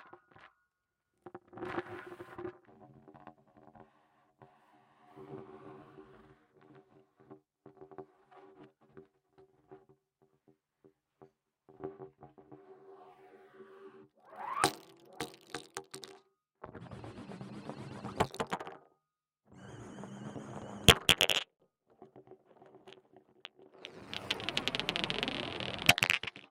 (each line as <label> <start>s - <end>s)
marble is rolling true a hose pipe 14.4s - 16.2s
marble is rolling true a hose pipe 17.4s - 18.7s
marble is rolling true a hose pipe 19.6s - 21.4s
marble is rolling true a hose pipe 23.8s - 26.5s